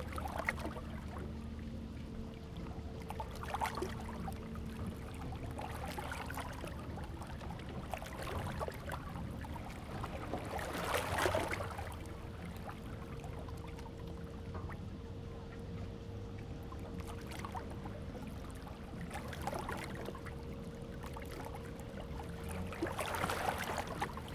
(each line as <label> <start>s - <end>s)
yachts on the lake 0.0s - 24.3s
Lake Sound 17.0s - 24.3s